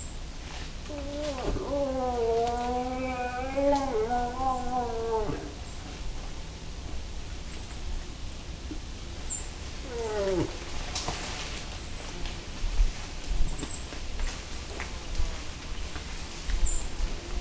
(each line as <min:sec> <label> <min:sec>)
0:00.0 Cow and Bull moose calling and moving through woods 0:08.0
0:09.1 Cow and Bull moose calling and moving through woods 0:17.4